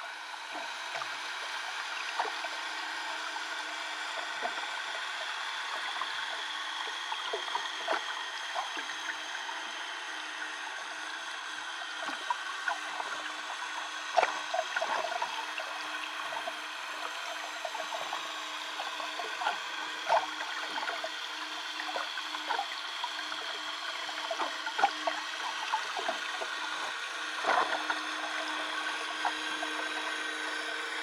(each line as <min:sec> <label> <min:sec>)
0:00.0 boat motors 0:31.0